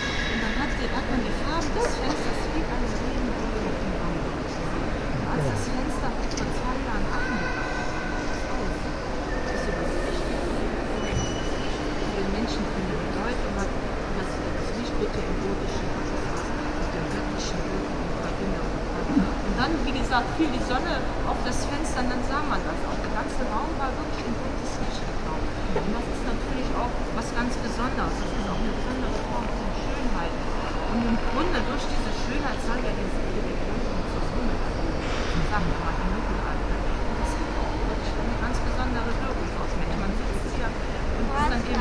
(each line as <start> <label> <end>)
5.2 guard explains the new richter window to a group of older people 5.6